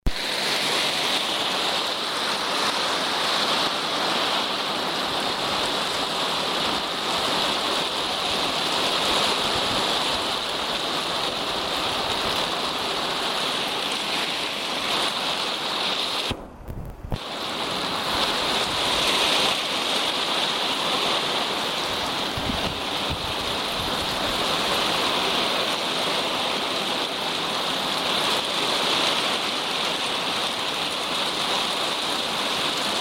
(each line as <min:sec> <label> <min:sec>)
0:00.1 rain heard from inside a house 0:33.0